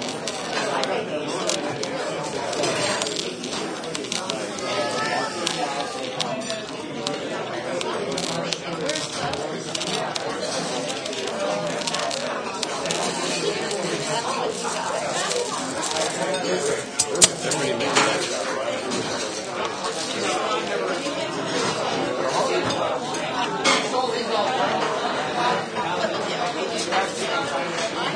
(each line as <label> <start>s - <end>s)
plates and glass noises 0.0s - 24.0s